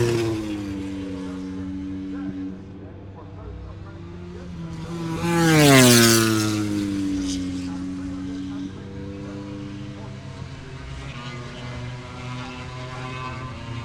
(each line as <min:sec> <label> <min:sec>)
0:00.0 motorcycle grand prix 0:13.8